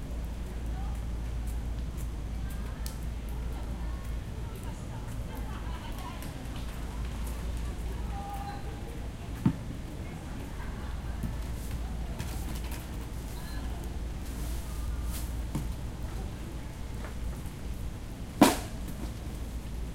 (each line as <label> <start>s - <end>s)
people 0.0s - 17.6s